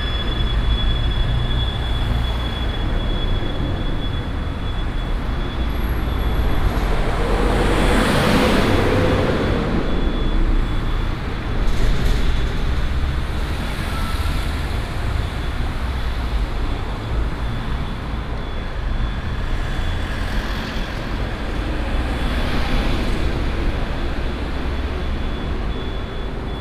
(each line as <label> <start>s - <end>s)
Traffic 0.0s - 26.6s